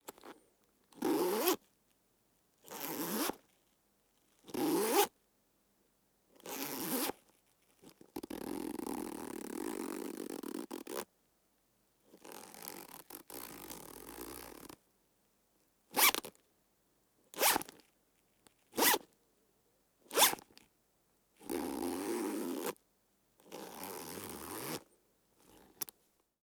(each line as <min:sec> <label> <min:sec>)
0:01.0 zipper lock 0:01.6
0:02.7 zipper lock 0:03.4
0:16.0 zipper lock 0:16.3
0:17.4 zipper lock 0:17.8
0:18.7 zipper lock 0:19.1
0:20.1 zipper lock 0:20.6
0:21.4 zipper lock 0:22.8
0:23.4 zipper lock 0:25.9